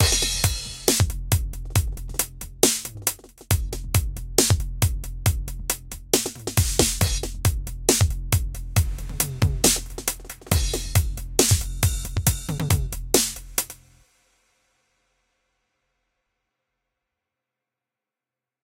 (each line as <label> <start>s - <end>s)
Drums 0.0s - 15.2s